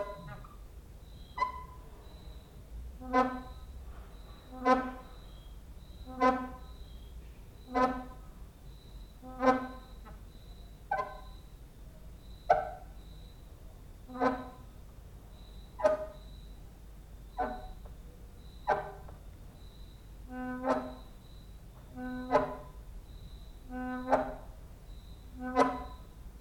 0.0s cricket outside 26.4s
3.0s creaking with wooden doors 5.3s
9.2s creaking with wooden doors 10.2s
14.1s creaking with wooden doors 14.7s

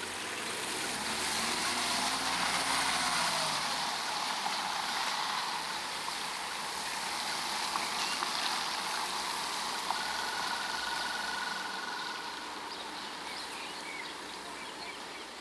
0.0s pedestrians crossing road in the rain 15.4s

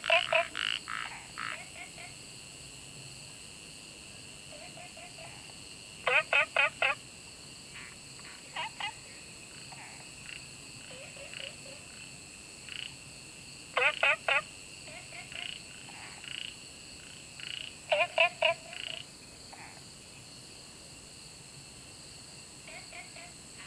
0.0s Frogs chirping 2.5s
0.0s insects 23.6s
4.1s Frogs chirping 20.4s
22.4s Frogs chirping 23.6s

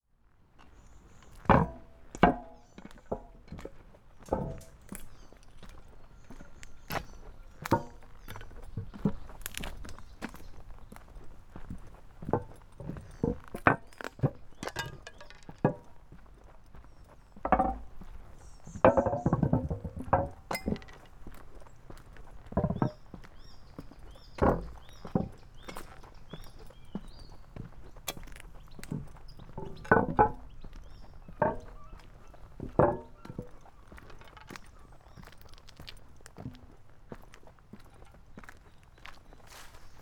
0.5s trackbed walk 40.0s

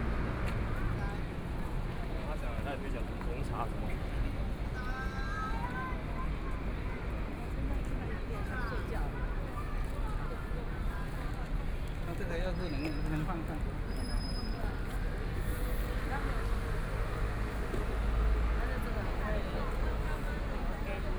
0.0s walking in the Street 21.1s

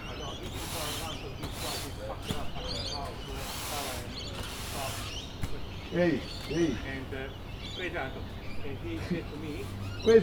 0.0s birds 10.2s
0.0s construction workers 10.2s

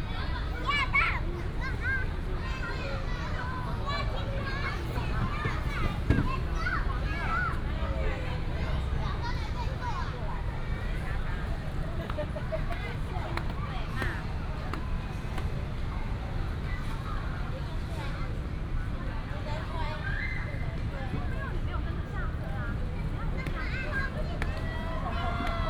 0.0s traffic sound 25.6s
0.0s Child 10.4s

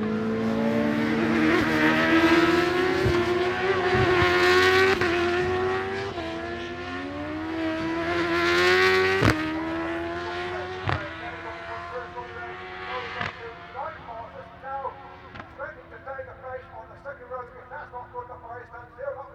0.0s superbikes qualifying 19.3s

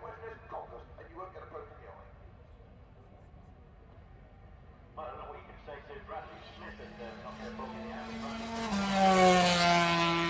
5.0s commentary 8.7s

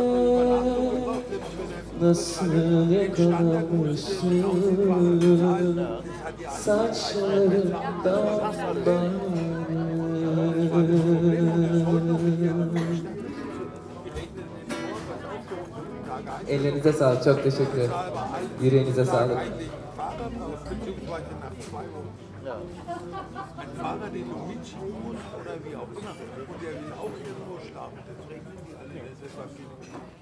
0.0s Happy Birthday and other Turkish music 24.8s

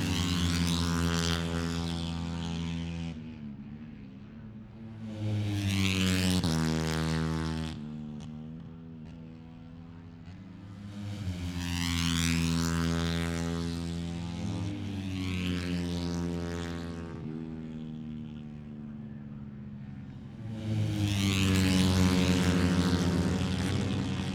0.0s motorcycle grand prix 24.3s

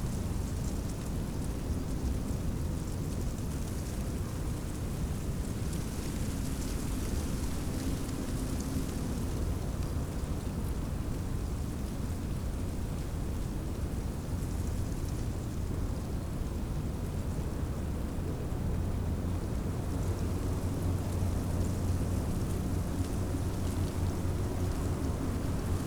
0.0s dry leaves of a bush rustling in the wind 25.8s

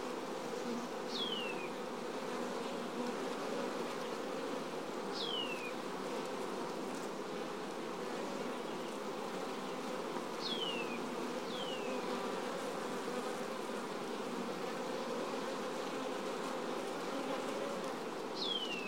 0.0s wild bees 18.8s

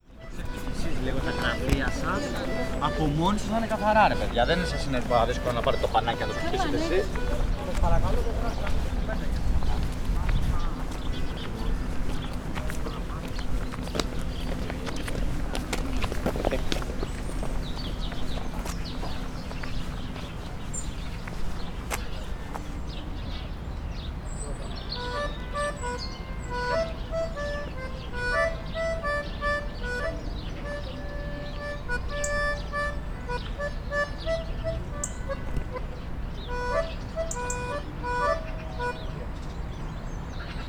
0.0s child timidly playing sparse melody on an accordion 21.8s
24.8s child timidly playing sparse melody on an accordion 39.6s

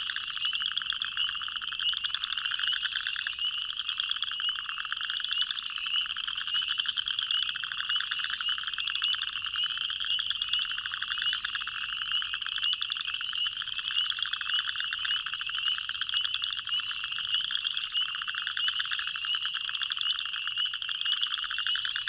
0.0s Cricket frogs 22.0s
0.0s spring peepers 22.0s

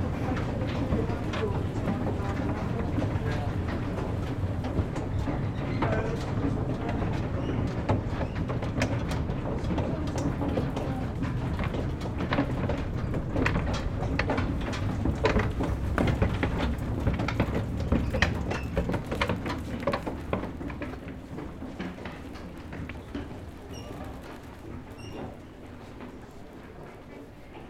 0.0s wooden escalators 27.6s

